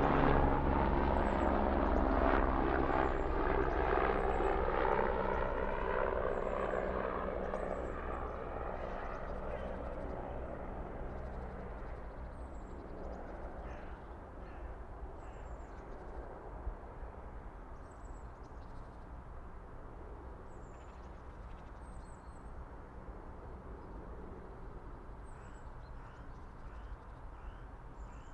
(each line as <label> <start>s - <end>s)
aircrafts 0.0s - 28.3s
birds 1.0s - 16.4s
birds 25.2s - 28.3s